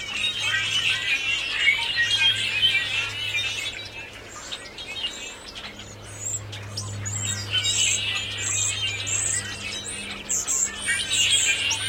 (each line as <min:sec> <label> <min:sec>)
0:00.0 blackbirds 0:11.8